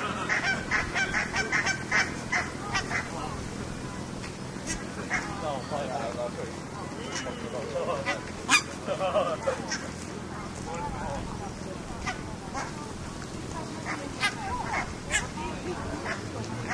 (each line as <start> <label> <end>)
0.0 Barnacle Geese calling 3.8
0.0 city noise 16.7
0.0 motor boats 16.7
0.0 people talking 16.7
4.6 Barnacle Geese calling 6.1
7.0 Barnacle Geese calling 10.0
11.9 Barnacle Geese calling 12.9
13.7 Barnacle Geese calling 16.7